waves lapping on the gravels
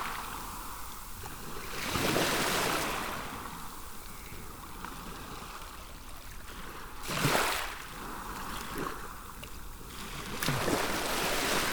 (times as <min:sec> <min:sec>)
0:06.4 0:09.2, 0:09.8 0:11.7